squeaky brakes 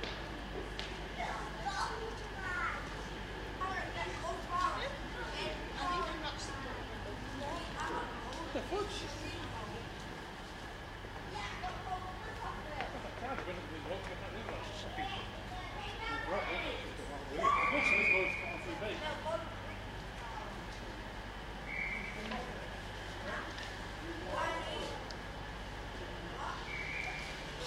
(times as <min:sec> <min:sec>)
0:17.4 0:18.7, 0:21.6 0:22.3, 0:26.5 0:27.6